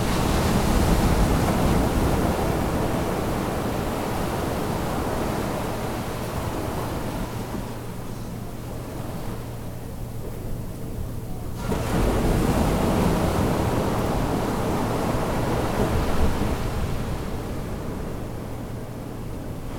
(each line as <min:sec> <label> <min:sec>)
0:00.0 waves 0:19.7